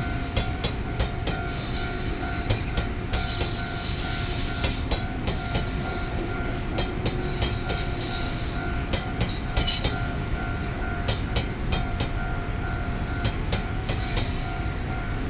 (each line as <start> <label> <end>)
0.0 Trains traveling through 15.2